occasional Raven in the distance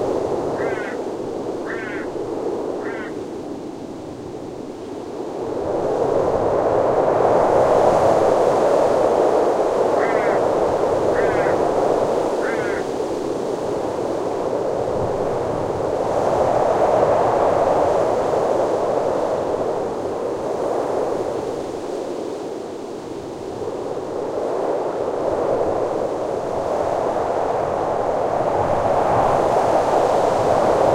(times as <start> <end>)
0.5 3.3, 9.8 13.0